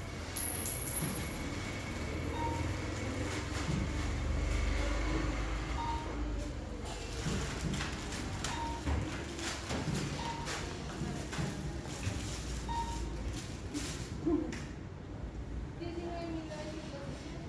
cars passing outside 0:00.0 - 0:06.8
cash registrer 0:00.0 - 0:14.2

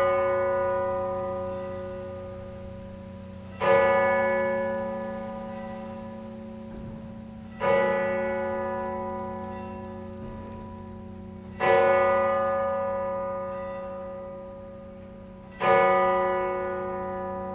cathedral bells ringing ten 0:00.0 - 0:17.5

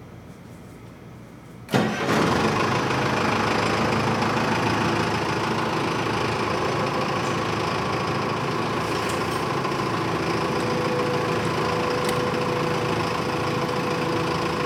truck 0:01.7 - 0:14.6

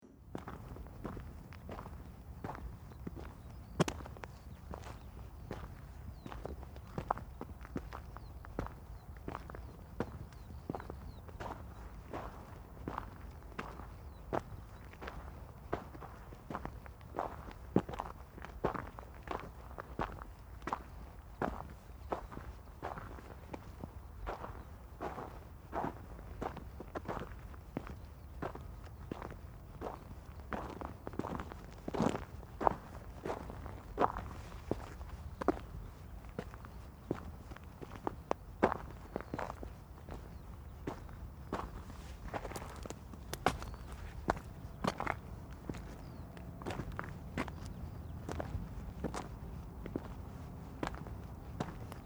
my footsteps walking over the dead village 0:00.1 - 0:52.0

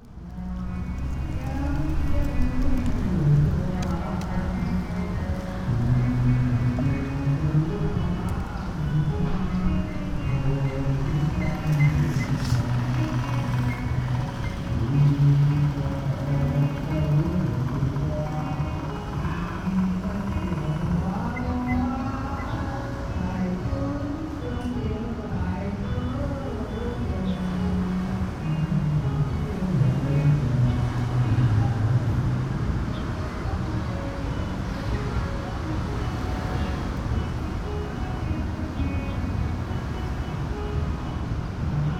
old man is singing traditional folk songs 0:00.0 - 0:32.4

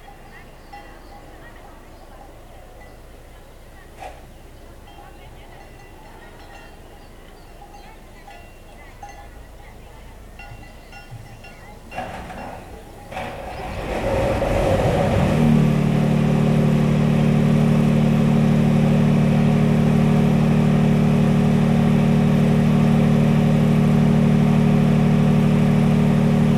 wheelbarrow 0:12.0 - 0:15.0

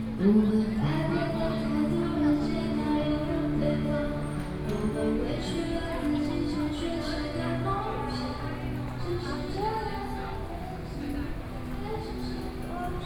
Various shops voices 0:00.0 - 0:13.0
walking in the Street 0:00.0 - 0:13.0

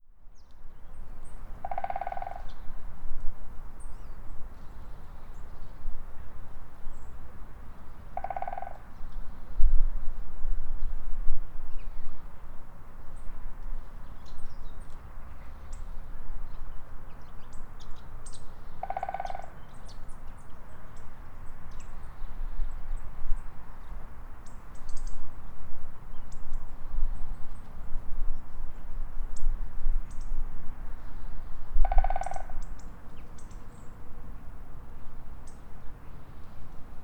Woodpecker’s rhythmic concert 0:01.5 - 0:02.7
Woodpecker’s rhythmic concert 0:08.1 - 0:08.9
Woodpecker’s rhythmic concert 0:18.7 - 0:20.1
Woodpecker’s rhythmic concert 0:31.8 - 0:33.7

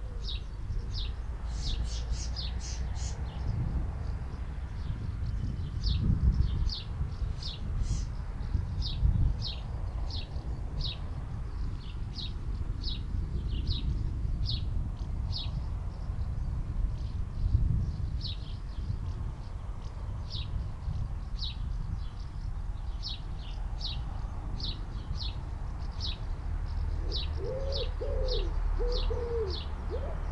traffic noise 0:00.0 - 0:30.3
collared dove 0:26.9 - 0:30.3
wood pigeon 0:27.0 - 0:30.3

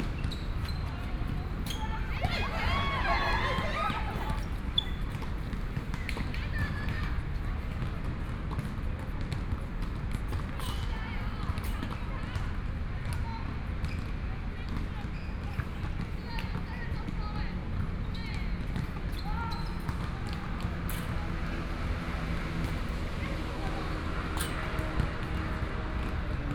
Traffic Sound 0:00.0 - 0:07.6
Tennis 0:00.0 - 0:12.1
Basketball 0:00.0 - 0:26.5

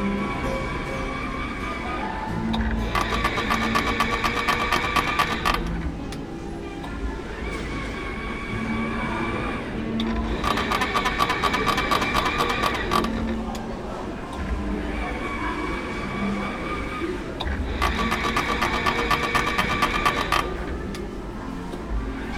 rotierende Werbung 0:02.5 - 0:05.9
rotierende Werbung 0:10.0 - 0:13.6
rotierende Werbung 0:17.4 - 0:21.0

